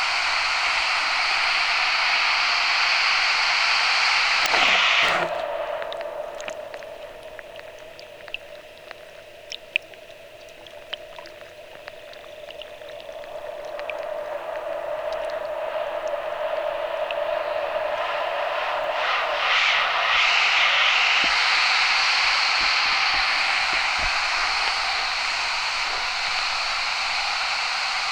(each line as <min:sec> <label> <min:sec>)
0:04.3 water sound 0:19.4
0:13.4 white noise when it's in the air 0:28.1